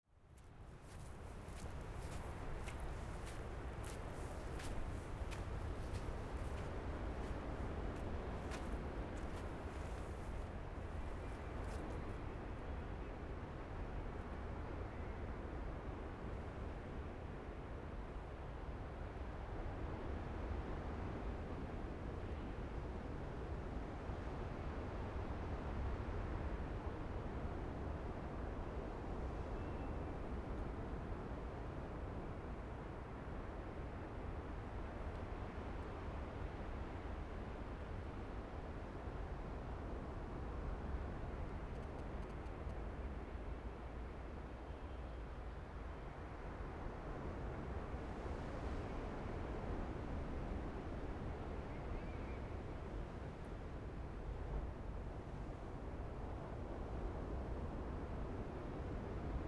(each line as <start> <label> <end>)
0.9 waves 11.9